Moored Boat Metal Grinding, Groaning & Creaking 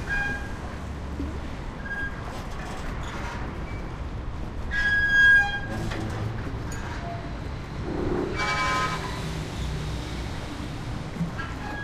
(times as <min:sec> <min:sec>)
0:04.7 0:09.3, 0:11.3 0:11.8